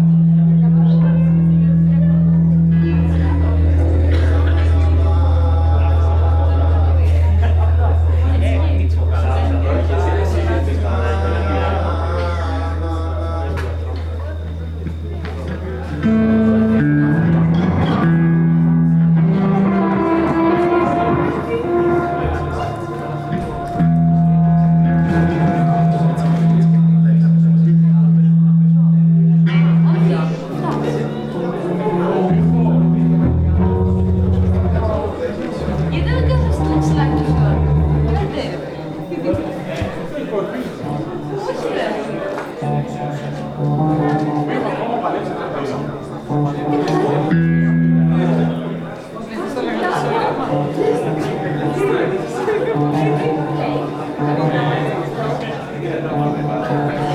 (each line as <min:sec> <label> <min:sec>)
0:00.0 guitars 0:57.1
0:00.0 lute 0:57.1